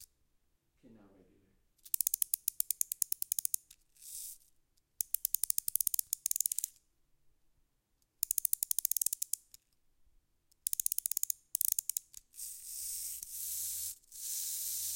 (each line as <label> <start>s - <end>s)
wind up toy 1.8s - 4.4s
wind up toy 5.0s - 6.7s
wind up toy 8.2s - 9.4s
wind up toy 10.7s - 14.9s